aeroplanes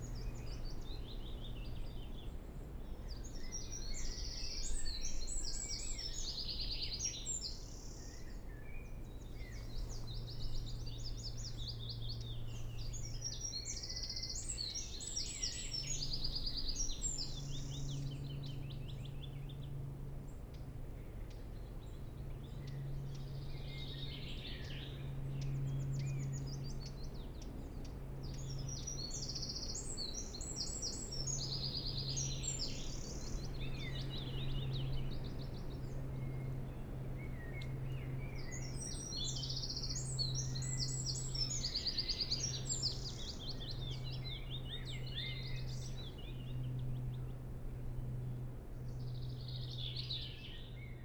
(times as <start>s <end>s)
22.0s 51.0s